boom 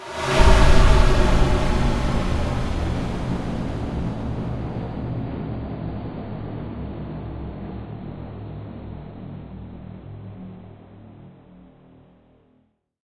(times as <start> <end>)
0.0 6.0